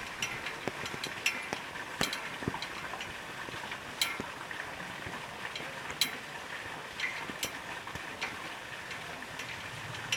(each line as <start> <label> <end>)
0.0 fountain 10.1